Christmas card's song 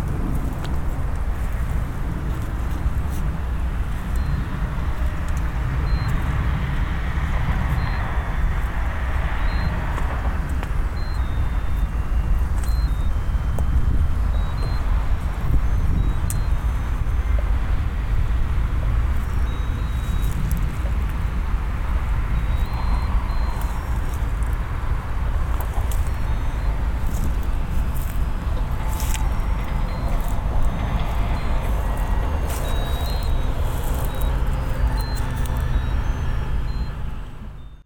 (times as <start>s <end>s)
19.2s 37.8s